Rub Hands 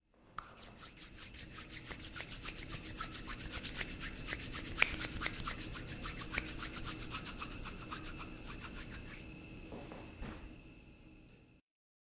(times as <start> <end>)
0.4 9.2